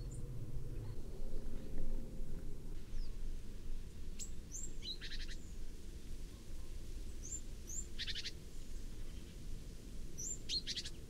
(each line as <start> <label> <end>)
2.8 Great Tit on a tree 11.0